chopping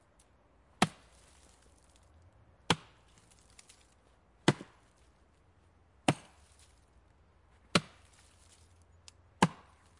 0.8s 1.0s, 2.7s 3.0s, 4.4s 4.8s, 6.0s 6.4s, 7.7s 8.0s, 9.4s 9.9s

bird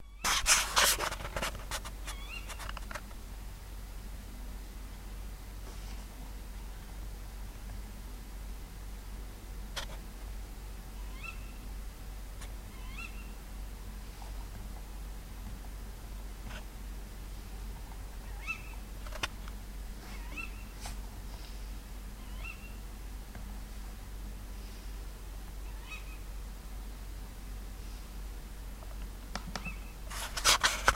2.0s 2.8s, 11.0s 11.7s, 12.6s 13.4s, 18.2s 18.9s, 20.0s 20.8s, 22.2s 22.9s, 25.6s 26.3s, 29.6s 30.0s

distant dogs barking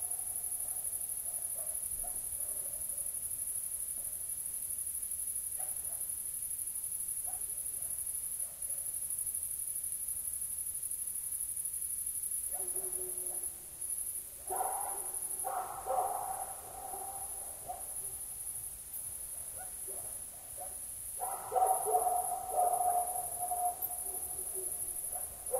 12.5s 13.6s, 14.4s 18.4s, 19.2s 25.5s

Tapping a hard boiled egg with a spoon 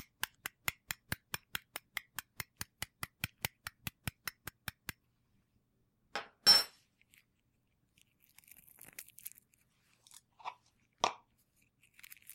0.0s 5.0s

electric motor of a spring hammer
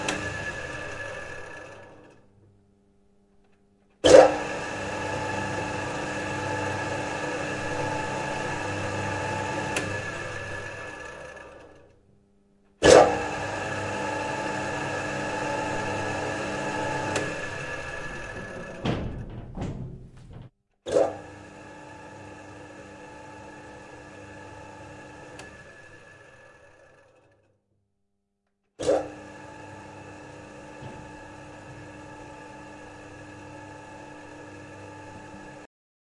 0.0s 2.2s, 4.1s 11.9s, 12.8s 18.8s, 20.9s 27.0s

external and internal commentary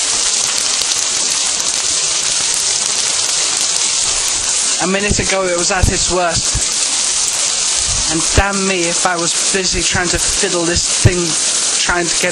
4.8s 6.8s, 7.9s 12.3s

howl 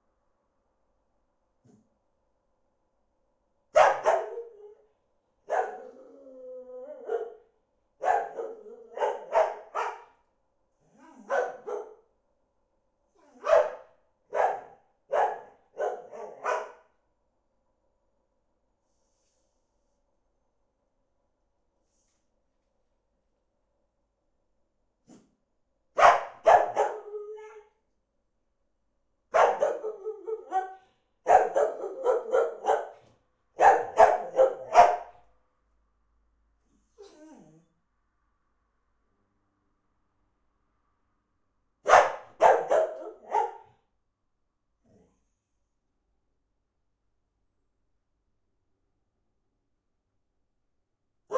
4.2s 4.9s, 5.6s 7.5s, 8.3s 9.3s, 26.7s 27.8s, 29.7s 30.8s

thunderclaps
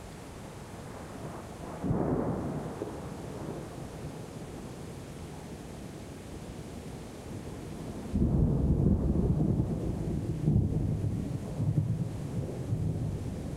8.1s 13.5s

